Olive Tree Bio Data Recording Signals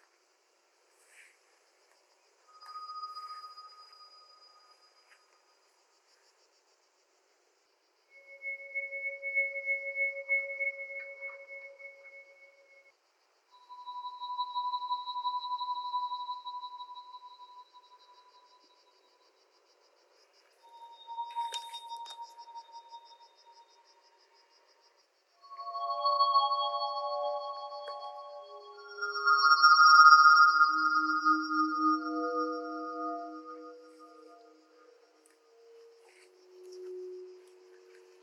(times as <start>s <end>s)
2.4s 5.5s, 13.6s 20.0s, 20.6s 38.2s